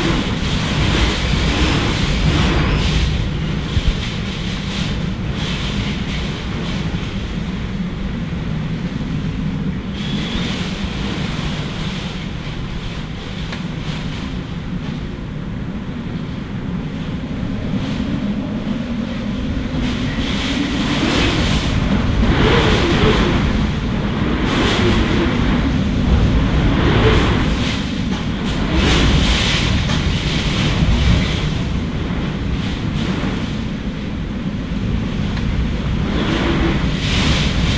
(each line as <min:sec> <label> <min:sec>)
0:00.0 rain 0:15.1
0:00.0 Wind 0:37.7
0:19.8 rain 0:37.7